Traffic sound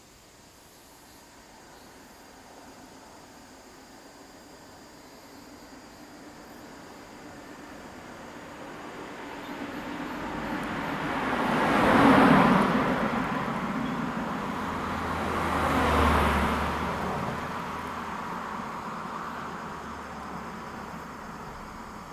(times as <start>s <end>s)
5.9s 22.1s